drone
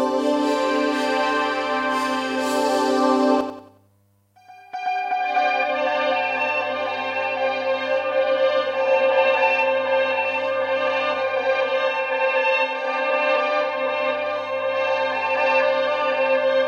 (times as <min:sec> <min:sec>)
0:00.0 0:03.7